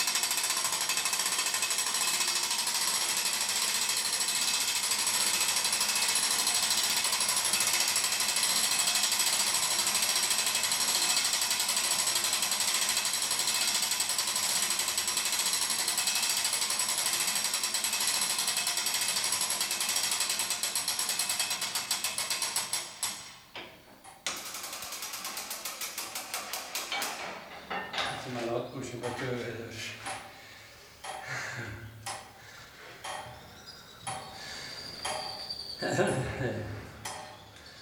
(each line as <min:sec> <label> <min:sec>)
0:00.0 rotating a big wheel that winds up a clock mechanism 0:23.4
0:24.0 rotating a big wheel that winds up a clock mechanism 0:29.4
0:32.0 rotating a big wheel that winds up a clock mechanism 0:36.3
0:37.0 rotating a big wheel that winds up a clock mechanism 0:37.8